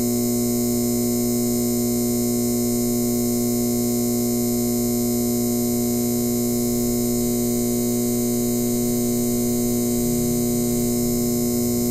neon tube fluorescent light hum 0:00.0 - 0:11.9

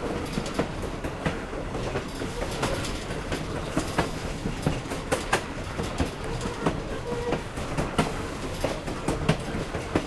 clickity-clackity track 0:00.0 - 0:10.0
train 0:00.0 - 0:10.0
train crossing 0:00.0 - 0:10.0
train whistle 0:06.5 - 0:07.4

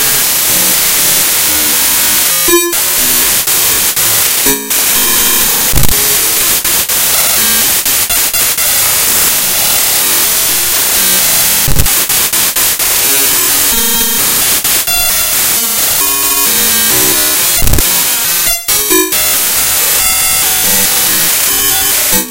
glitches 0:00.0 - 0:22.3

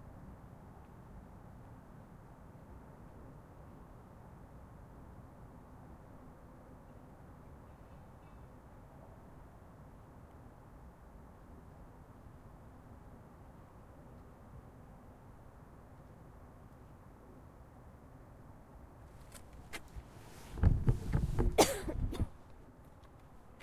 train 0:00.0 - 0:14.6

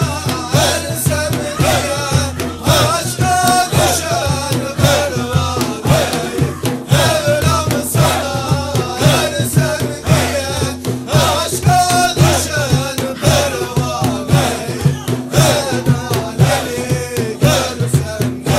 sufis made zikr 0:00.1 - 0:17.8

